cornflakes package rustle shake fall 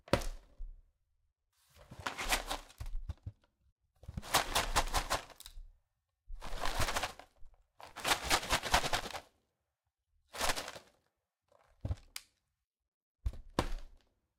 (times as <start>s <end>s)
4.2s 5.6s, 6.4s 7.3s, 7.9s 9.2s, 10.4s 11.0s